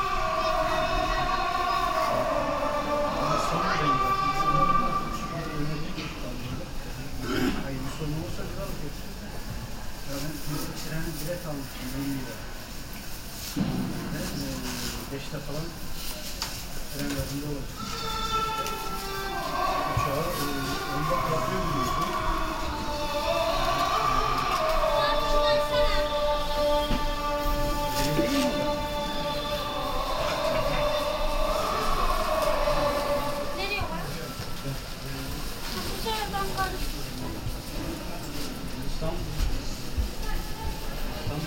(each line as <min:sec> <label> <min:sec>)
0:00.0 Believers entering 0:07.0
0:13.5 Believers entering 0:37.4